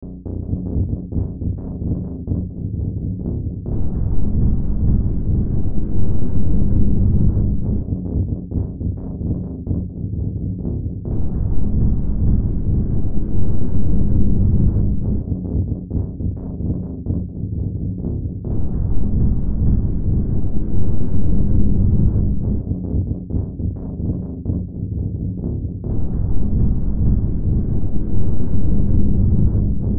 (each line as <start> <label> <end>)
0.0 Drone 29.9